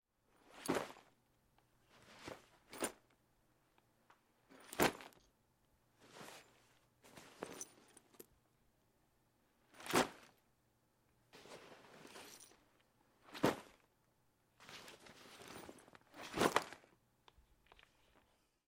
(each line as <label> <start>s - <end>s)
bags/gear being thrown to the ground 0.4s - 1.1s
bags/gear being thrown to the ground 2.0s - 3.0s
bags/gear being thrown to the ground 4.5s - 5.2s
bags/gear being thrown to the ground 6.0s - 8.1s
bags/gear being thrown to the ground 9.7s - 10.4s
bags/gear being thrown to the ground 11.4s - 12.6s
bags/gear being thrown to the ground 13.3s - 13.9s
bags/gear being thrown to the ground 14.6s - 16.9s